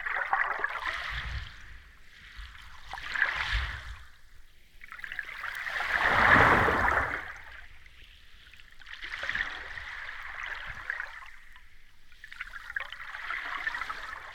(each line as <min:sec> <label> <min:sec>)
0:05.6 waves breaking on beach 0:07.5